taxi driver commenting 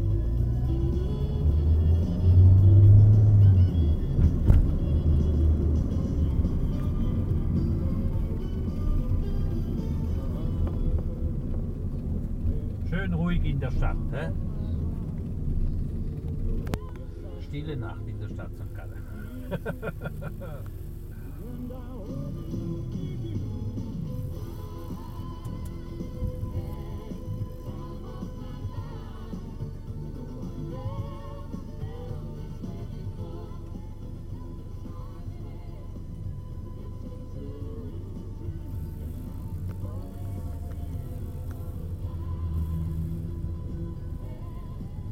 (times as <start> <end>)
12.5 14.6, 16.4 22.0